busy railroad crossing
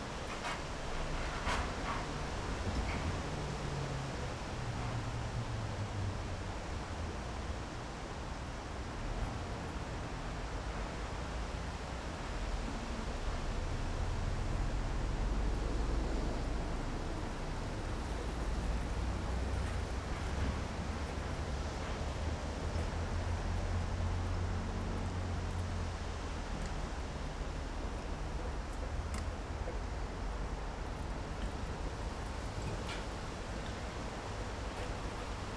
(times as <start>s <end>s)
9.0s 35.5s